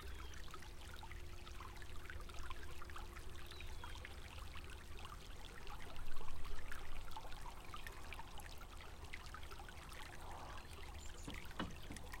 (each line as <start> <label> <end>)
0.0 small river 12.2